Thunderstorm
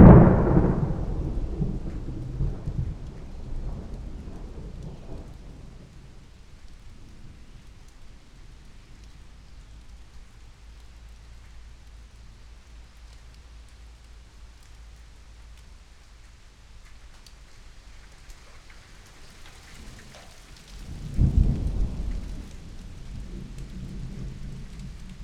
0.0s 9.9s, 19.6s 25.2s

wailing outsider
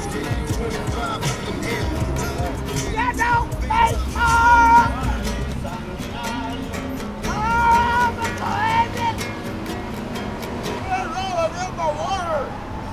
0.0s 9.3s

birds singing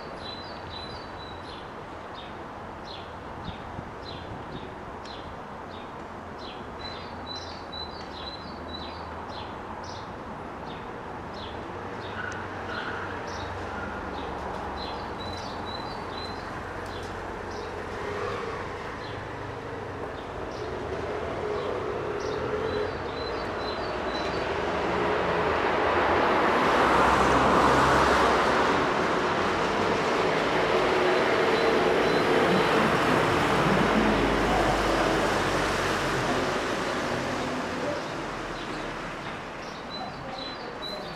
0.0s 17.8s, 21.4s 24.6s, 31.2s 33.1s, 37.9s 41.1s

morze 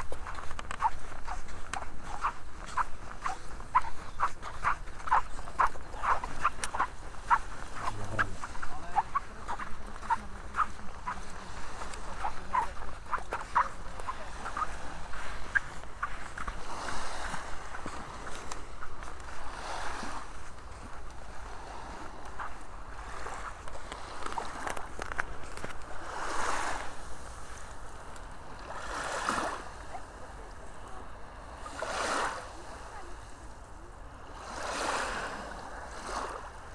2.7s 14.6s

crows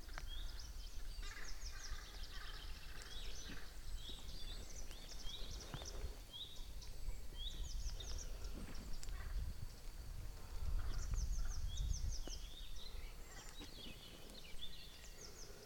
1.1s 3.8s, 8.0s 9.5s

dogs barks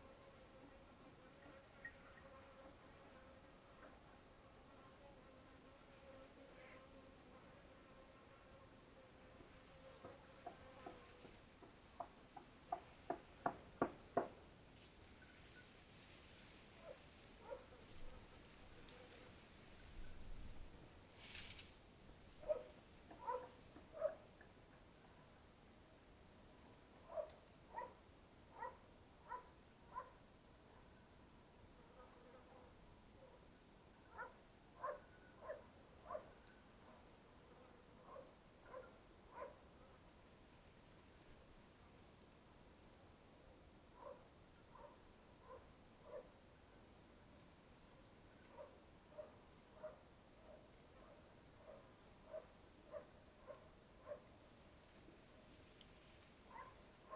22.4s 24.2s, 34.1s 36.3s

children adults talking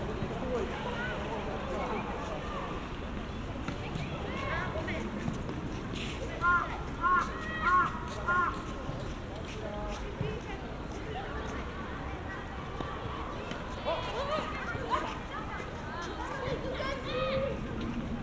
6.0s 8.9s, 10.3s 18.0s

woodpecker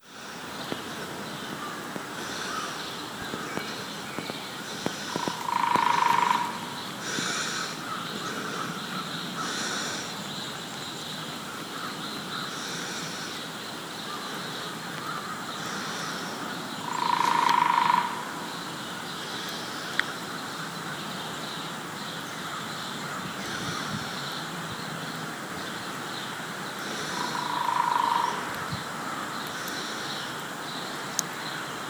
2.2s 10.1s, 15.0s 18.3s, 26.8s 28.8s

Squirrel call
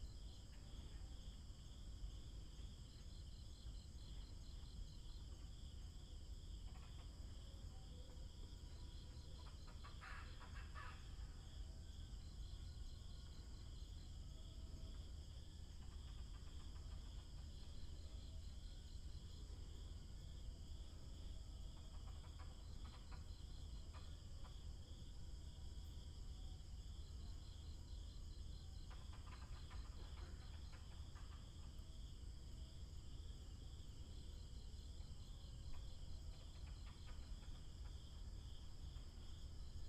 9.4s 11.2s

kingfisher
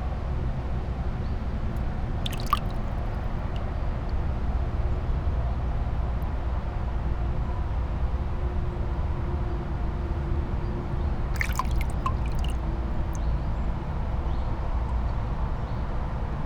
11.4s 12.6s

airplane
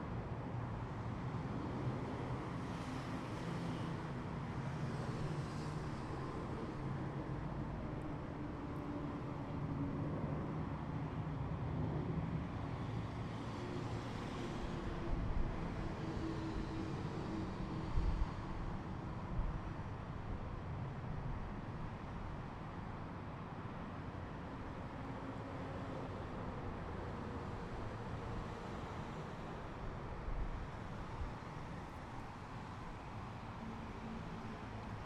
1.5s 19.6s

